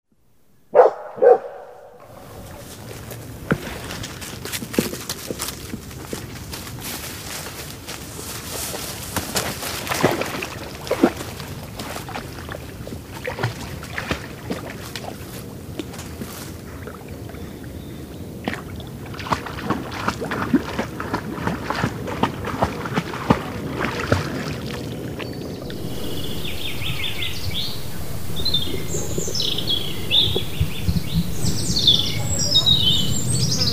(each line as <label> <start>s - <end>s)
les oiseaux entendus dans la forêt 0.8s - 14.0s
les oiseaux entendus dans la forêt 25.3s - 33.7s
un chien se baigne dans le lac 25.6s - 33.7s